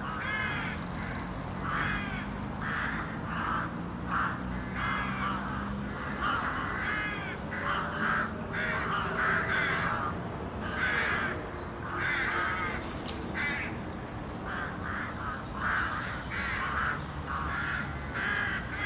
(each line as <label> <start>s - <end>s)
crows 0.0s - 13.8s
crows 14.4s - 18.8s